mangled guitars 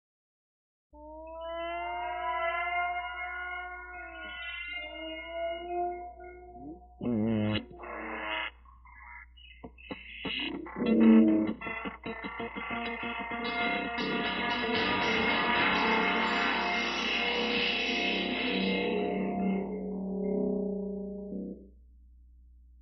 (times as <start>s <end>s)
9.6s 19.7s